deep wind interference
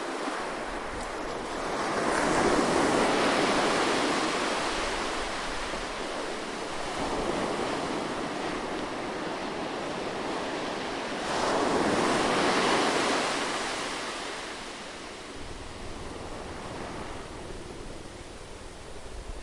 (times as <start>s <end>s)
15.3s 19.4s